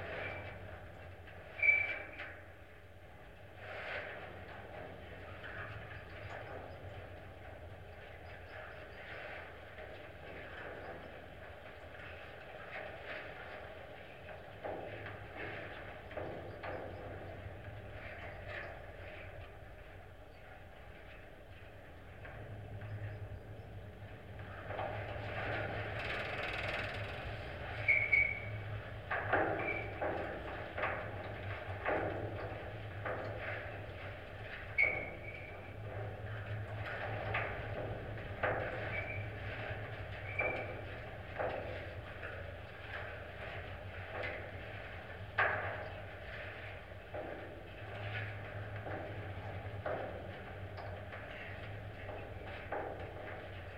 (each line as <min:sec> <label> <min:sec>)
0:00.0 metalic water tower 0:53.7